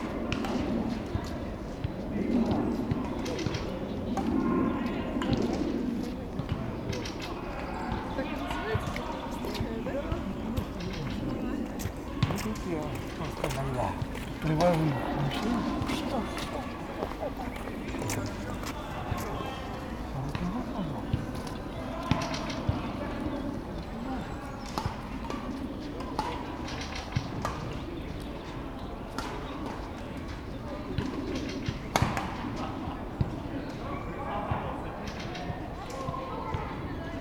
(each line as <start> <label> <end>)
0.0 Pedestrians 37.2
0.2 Birds 34.3
11.8 Volleyball 23.4